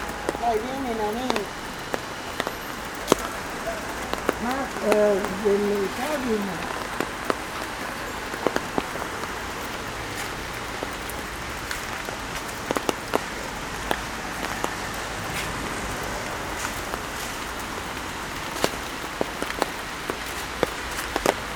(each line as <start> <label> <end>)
0.0 raindrops falling from the trees on the umbrella 21.5
0.0 traffic in the rain 21.5